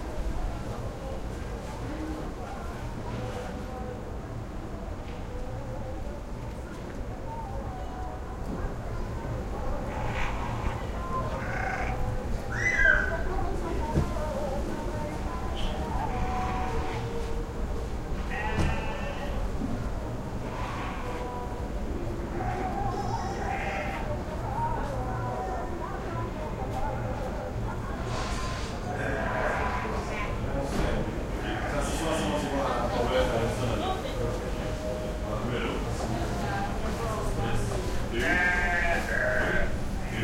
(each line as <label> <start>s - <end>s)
distant prayer from mosque 0.0s - 40.2s